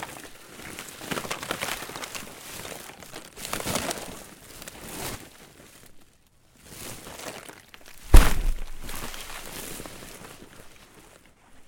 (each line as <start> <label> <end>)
0.0 Frozen tarp 11.6
6.7 Crunch 11.3
7.6 ice creaks 10.0